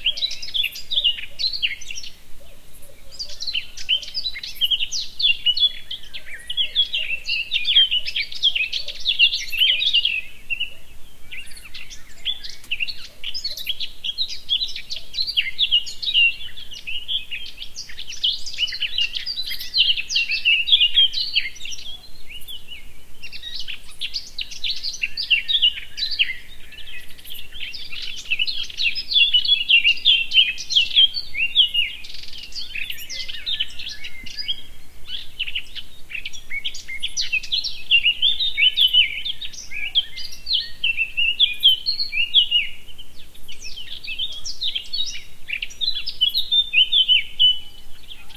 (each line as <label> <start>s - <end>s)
birdsong 0.0s - 48.3s